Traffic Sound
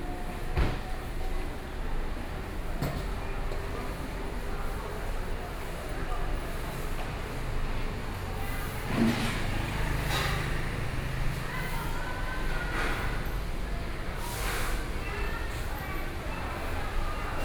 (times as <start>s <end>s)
7.1s 17.4s